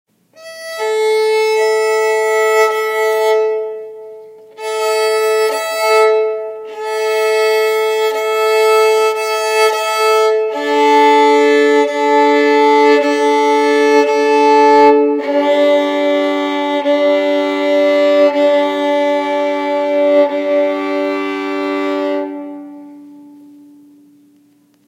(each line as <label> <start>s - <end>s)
Violin Tuning 0.3s - 24.8s